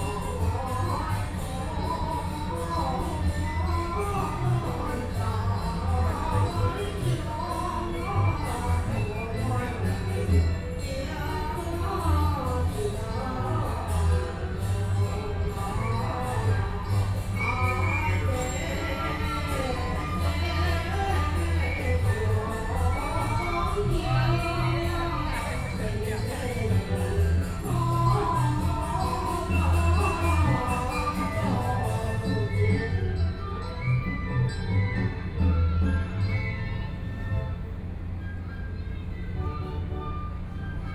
Puja 0.0 - 40.9

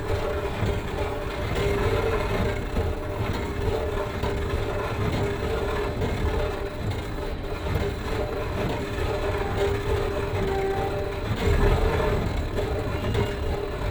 scatchy escalator 7.6 - 13.9

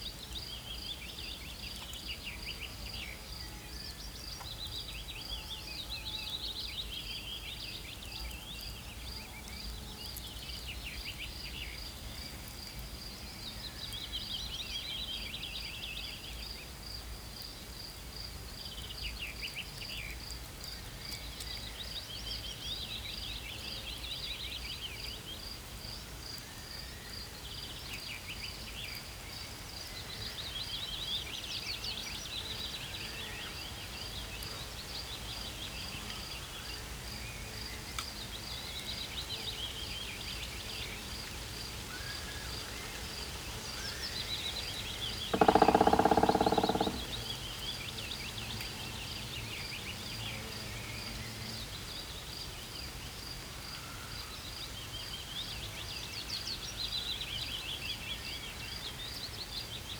fresh breeze that constantly fluttered the leaves 0.0 - 59.9
Black Woodpecker hammers at the top of a dead tree 45.3 - 47.3

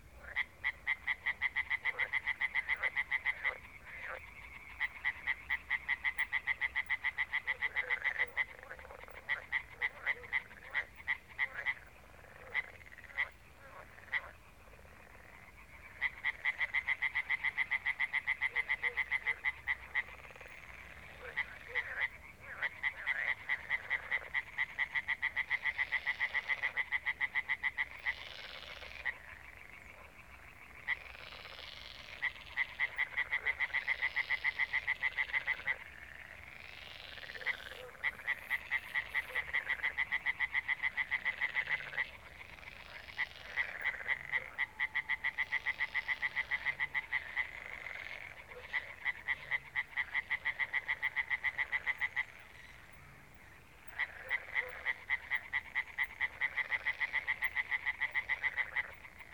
frogs 0.0 - 59.3

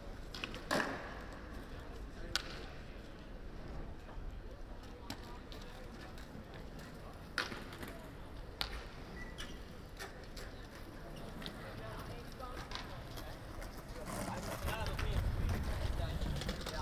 kids skateboarding 0.0 - 16.8

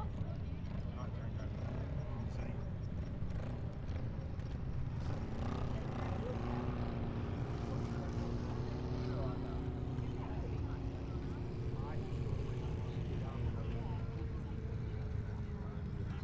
cars 0.0 - 16.2
motorbikes 0.0 - 16.2
vans 0.0 - 16.2

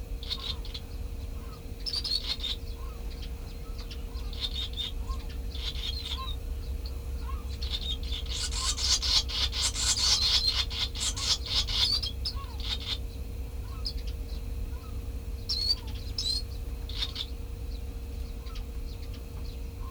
barn swallow nest 0.0 - 19.9
common tern 0.2 - 19.9
curlew 0.2 - 19.9
sandwich tern 7.2 - 13.0

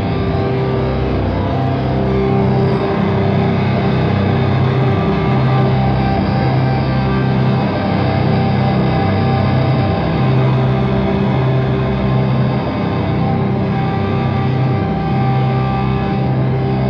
live performed guitar drone 0.0 - 16.8

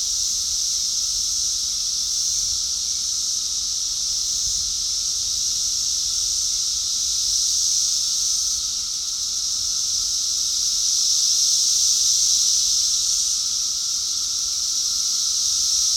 Cicadas 0.0 - 15.9

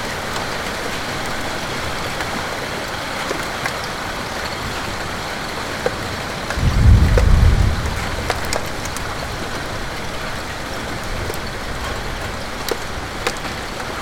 thunders 6.5 - 9.6

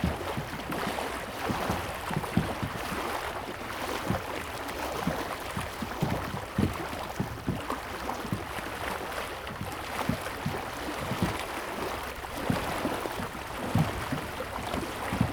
Lake 0.0 - 15.3
ship 0.0 - 15.3

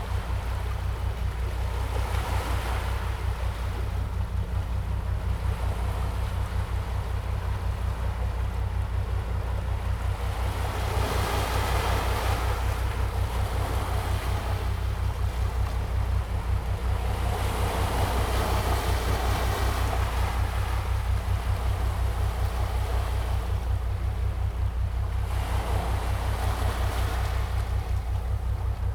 waves 0.0 - 28.9

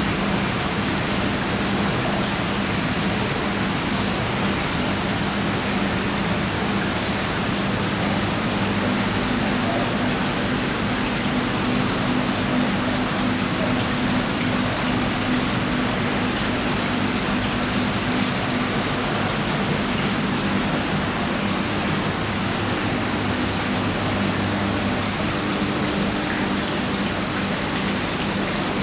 water in different water basins 0.0 - 28.8
water pumps 0.0 - 28.8

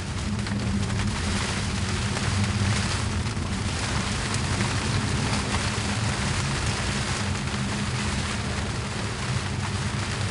Storm 0.0 - 10.3

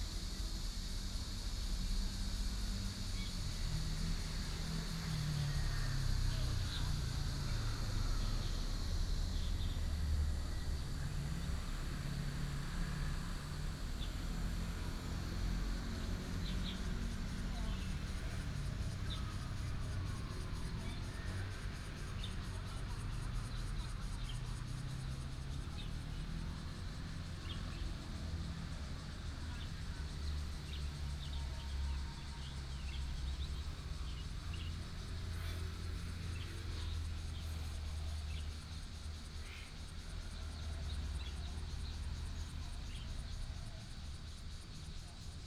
Cicada cry 0.1 - 45.4
traffic sound 0.2 - 45.4

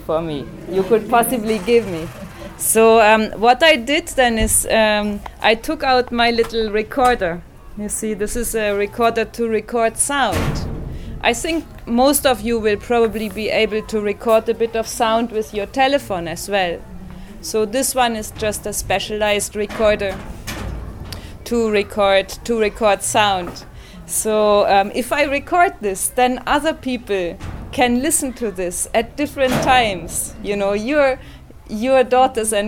women introduced us singing 0.0 - 10.4

